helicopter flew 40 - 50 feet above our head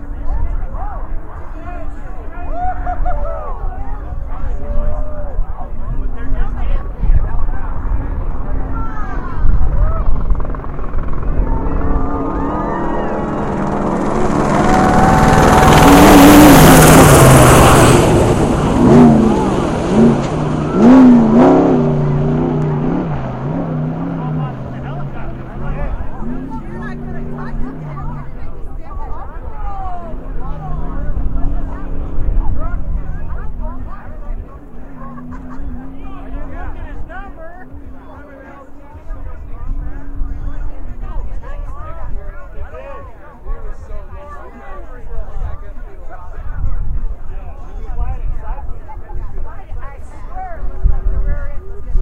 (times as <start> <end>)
6.8 20.1